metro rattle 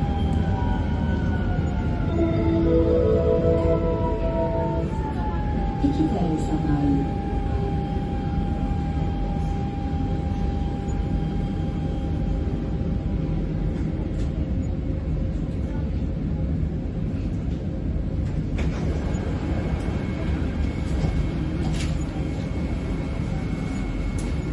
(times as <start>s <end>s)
0.0s 7.5s